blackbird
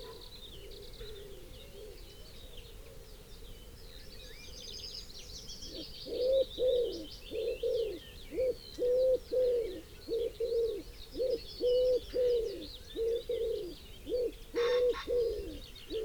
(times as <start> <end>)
3.9 16.0